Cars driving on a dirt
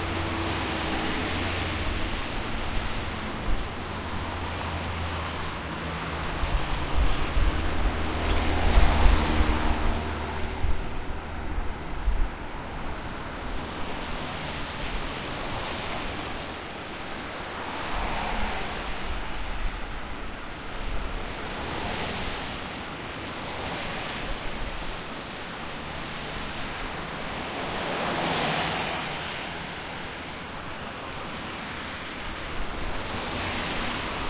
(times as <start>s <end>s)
0.0s 20.0s